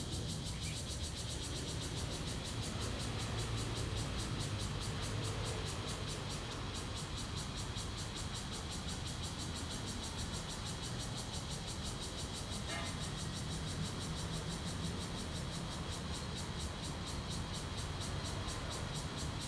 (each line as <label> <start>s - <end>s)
Cicadas sound 0.0s - 19.4s
Traffic Sound 9.8s - 19.4s